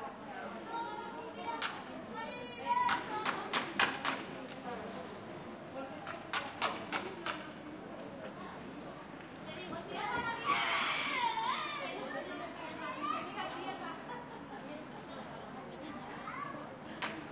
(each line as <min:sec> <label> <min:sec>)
0:00.0 children and their parents 0:17.3